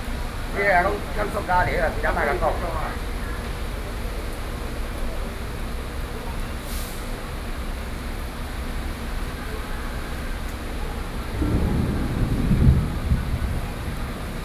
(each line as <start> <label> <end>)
10.8 Thunderstorm 14.4